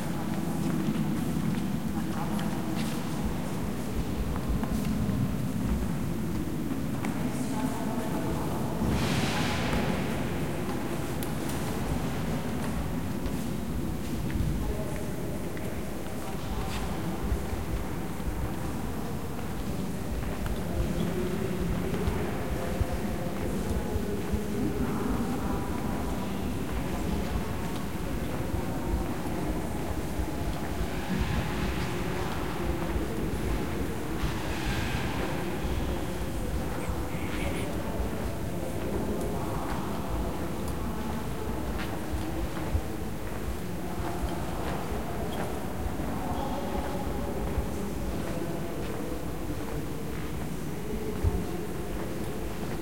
Many visitors 0.0 - 52.8
guided tour in the back 0.0 - 52.8

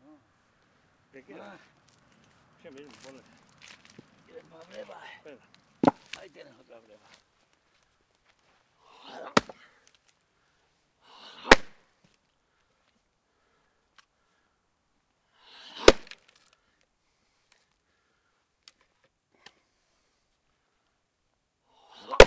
splitting thick logs of wood 5.8 - 6.3
splitting thick logs of wood 9.1 - 10.0
splitting thick logs of wood 11.4 - 11.8
splitting thick logs of wood 15.8 - 16.3
splitting thick logs of wood 22.0 - 22.2

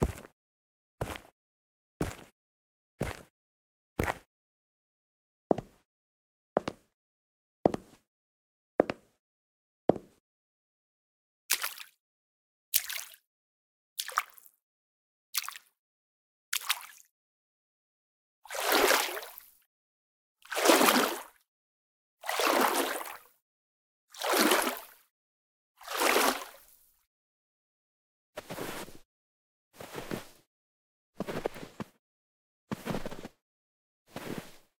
footsteps (walk) on different surfaces 0.0 - 0.4
footsteps (walk) on different surfaces 1.0 - 1.4
footsteps (walk) on different surfaces 2.0 - 2.4
footsteps (walk) on different surfaces 3.0 - 3.3
footsteps (walk) on different surfaces 4.0 - 4.3
footsteps (walk) on different surfaces 5.5 - 5.8
footsteps (walk) on different surfaces 6.6 - 6.9
footsteps (walk) on different surfaces 7.7 - 8.0
footsteps (walk) on different surfaces 28.4 - 29.0
footsteps (walk) on different surfaces 29.8 - 30.5
footsteps (walk) on different surfaces 31.2 - 32.0
footsteps (walk) on different surfaces 32.7 - 33.4
footsteps (walk) on different surfaces 34.1 - 34.7

